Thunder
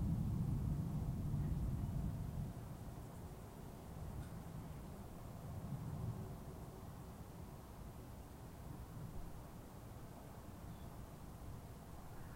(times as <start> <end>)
0.0 2.6